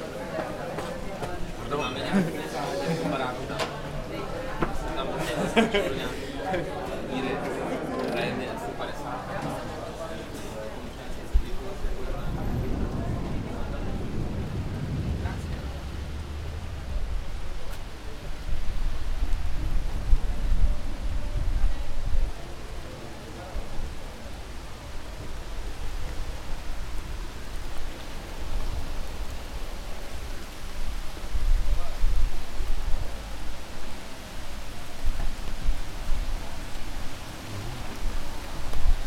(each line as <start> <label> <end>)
0.0 strong rain 39.0
0.2 conversation 15.7